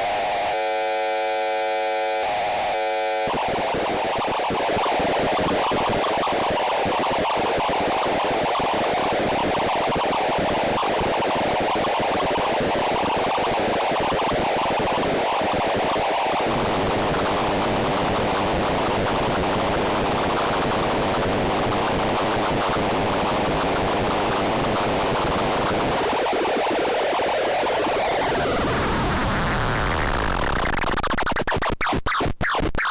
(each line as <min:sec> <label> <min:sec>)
0:00.0 synth noises 0:20.6